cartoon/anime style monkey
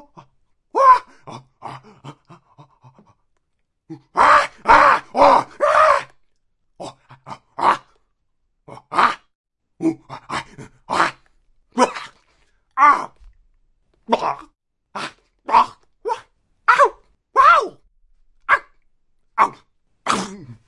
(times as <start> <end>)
3.9 6.2, 6.8 8.0, 8.7 12.2, 14.1 17.8, 18.5 18.8